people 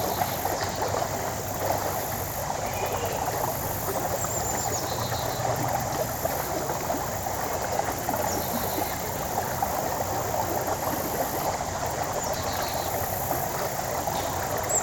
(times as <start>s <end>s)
2.6s 3.5s